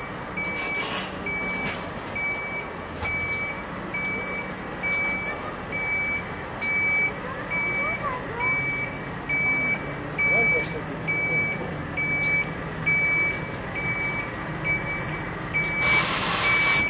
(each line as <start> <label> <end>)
0.0 construction truck is slowly reversing 16.8
0.0 pedestrian traffic 16.8
0.0 reversing safety beeper 16.8